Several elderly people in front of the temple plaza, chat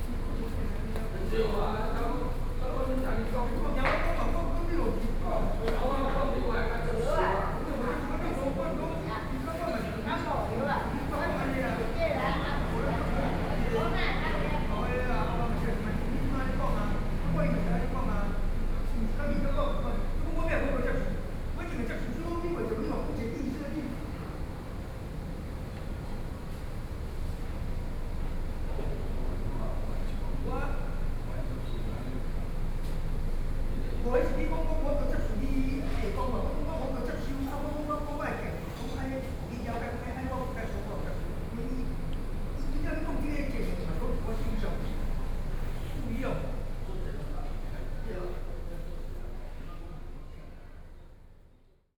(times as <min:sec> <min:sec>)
0:00.0 0:20.2